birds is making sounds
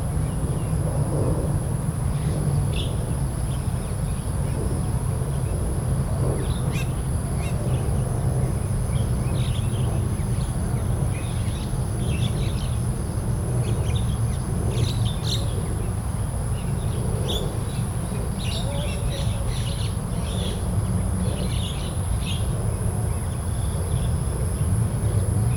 0:13.6 0:25.5

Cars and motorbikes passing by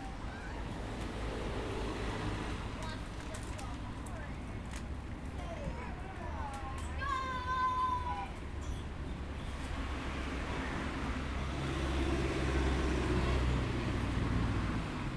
0:00.0 0:03.1, 0:07.9 0:15.1

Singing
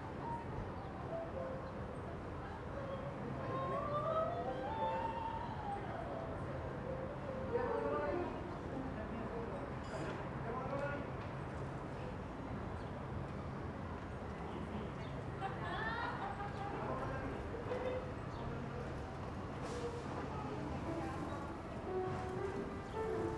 0:02.6 0:06.4

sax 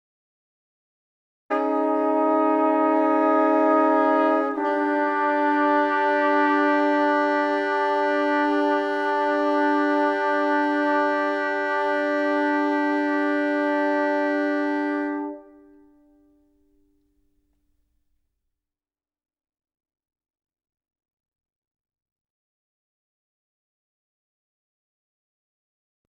0:01.5 0:16.4

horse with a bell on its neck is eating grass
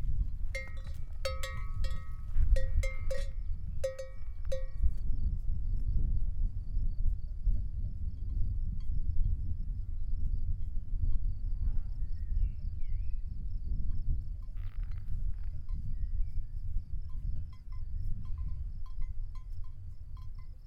0:00.0 0:05.9, 0:16.6 0:20.6

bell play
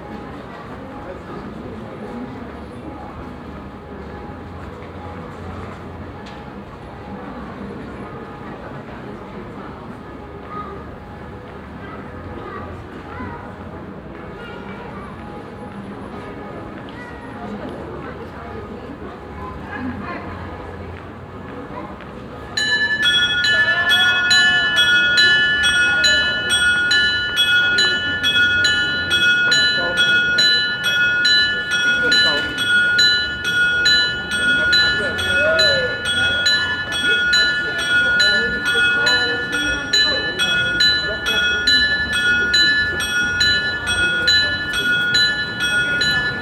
0:22.6 0:46.4

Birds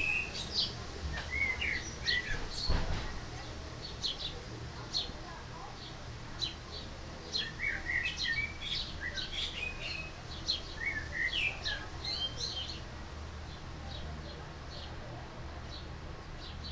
0:00.0 0:12.9

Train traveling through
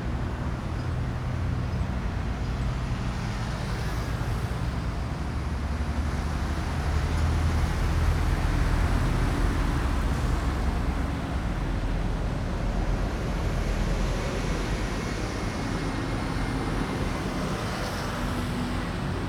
0:07.8 0:19.2

